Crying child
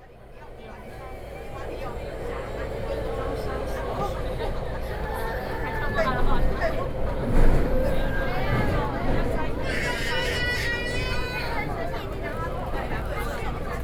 9.5 11.9

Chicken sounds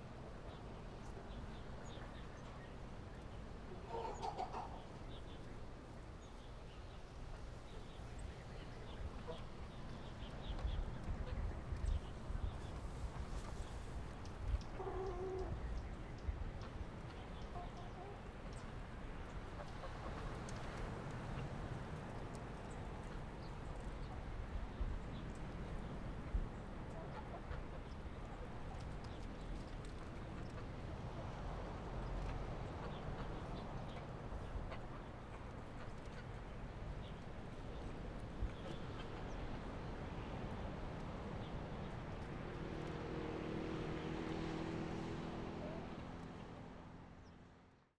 3.8 5.0

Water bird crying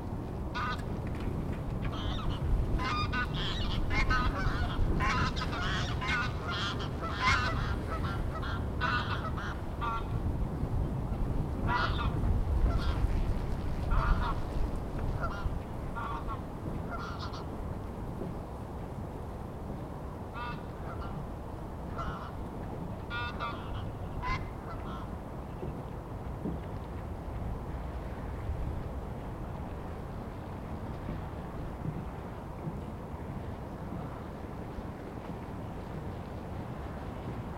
0.5 0.9, 1.8 10.2, 11.6 13.1, 13.9 14.5, 15.2 17.6, 20.3 21.2, 21.9 22.4, 23.0 25.8

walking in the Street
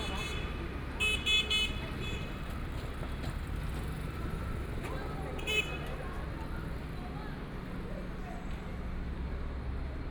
0.0 5.4

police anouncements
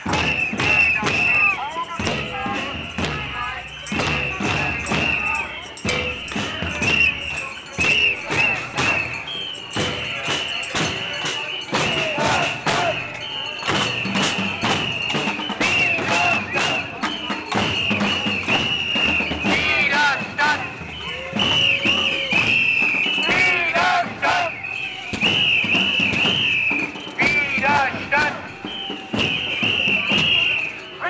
0.0 13.6

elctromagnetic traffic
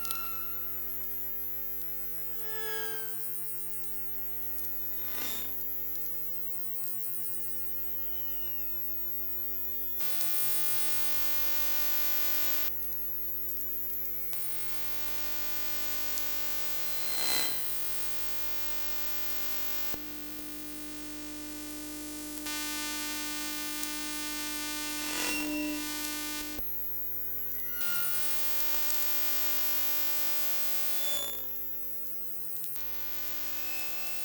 22.5 26.6

